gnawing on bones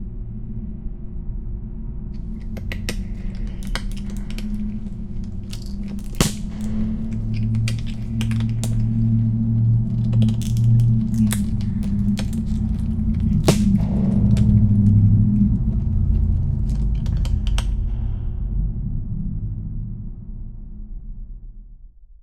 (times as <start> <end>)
2.2 15.6, 16.6 17.8